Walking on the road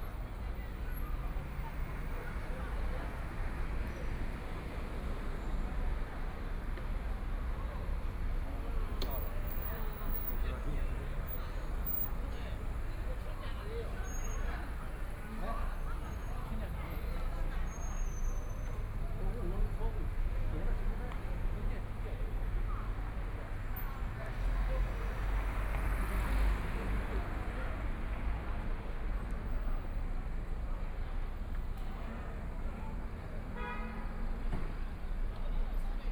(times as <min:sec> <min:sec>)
0:06.7 0:27.2